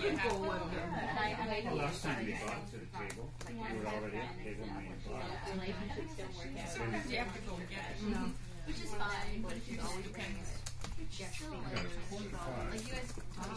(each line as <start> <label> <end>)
0.0 People chatting 13.5
10.4 Laptop typing 11.1
12.6 Laptop typing 13.5